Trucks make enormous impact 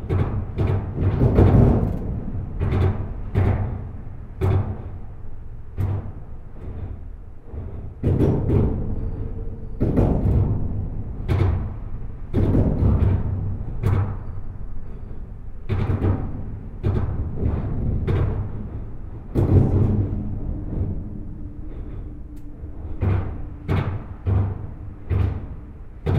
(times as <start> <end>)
0.0 7.1, 15.6 21.4